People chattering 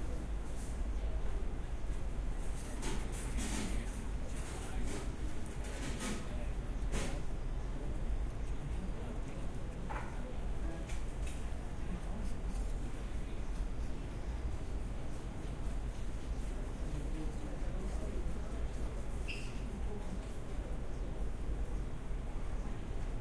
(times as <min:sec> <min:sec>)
0:06.2 0:15.0, 0:16.3 0:23.2